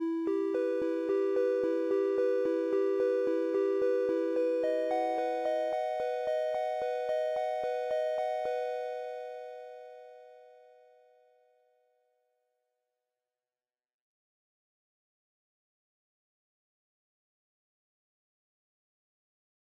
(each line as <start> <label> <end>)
0.3 bells 10.2